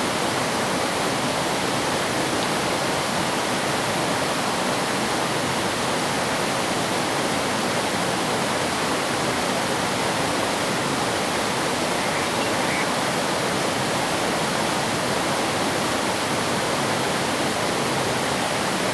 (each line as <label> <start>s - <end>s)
Stream 0.0s - 18.9s
Bird sounds 11.0s - 13.4s